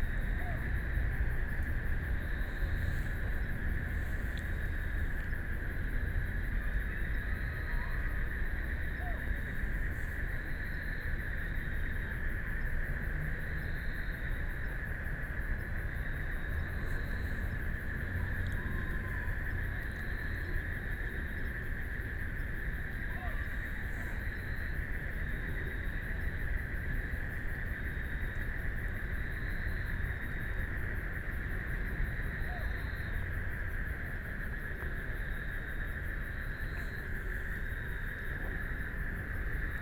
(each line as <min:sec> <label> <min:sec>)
0:00.0 Traffic Sound 0:31.0
0:00.0 Frogs sound 0:39.8